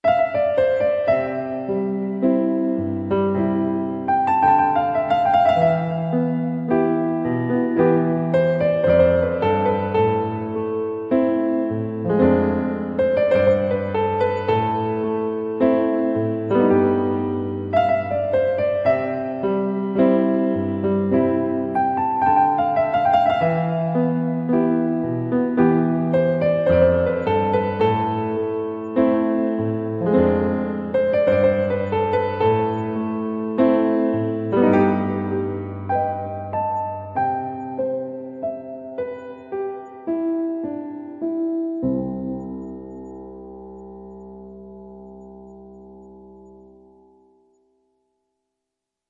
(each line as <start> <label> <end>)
0.0 piano 49.0